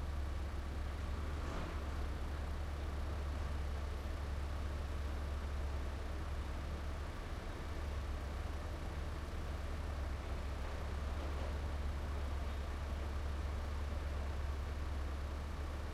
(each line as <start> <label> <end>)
0.0 garbage truck 4.5
9.4 garbage truck 15.6